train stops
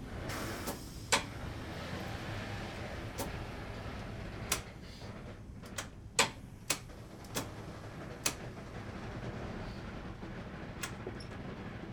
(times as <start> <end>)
0.0 5.4